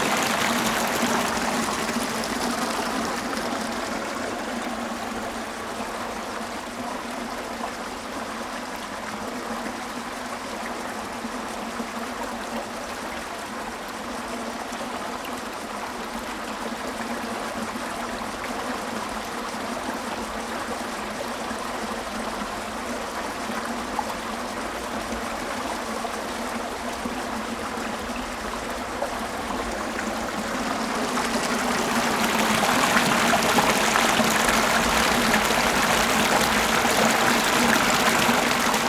Irrigation waterway 0:00.0 - 0:07.1
Irrigation waterway 0:21.5 - 0:38.8

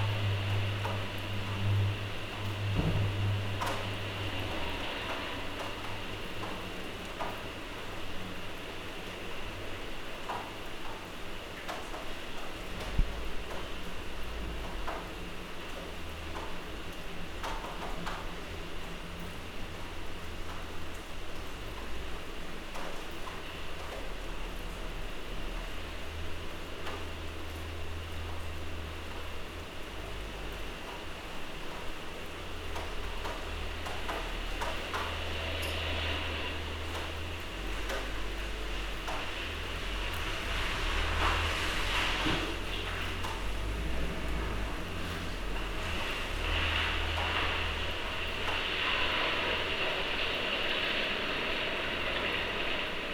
thunder 0:00.0 - 0:06.6
rain 0:00.0 - 0:53.1

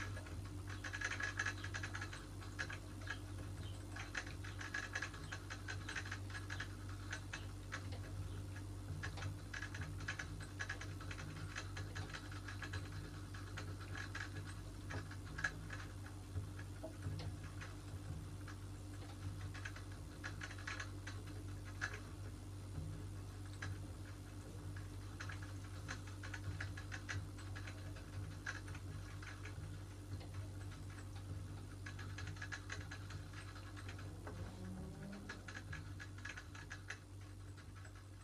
rabbits in their hutches 0:00.0 - 0:38.2

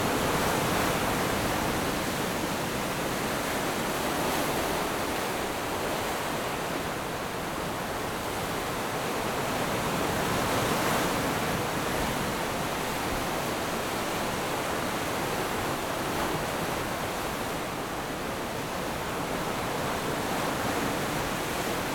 waves 0:00.0 - 0:21.9

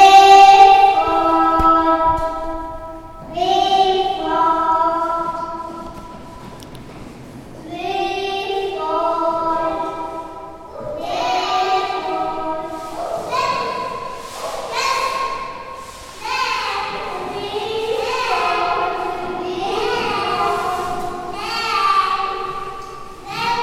dougter, singing 0:00.0 - 0:06.0

